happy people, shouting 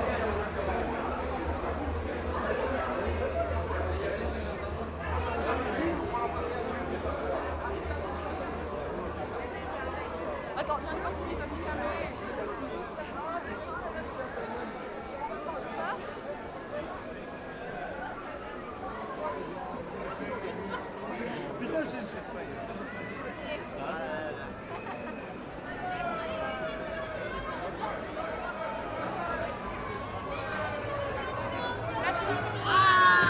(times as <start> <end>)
29.9 33.2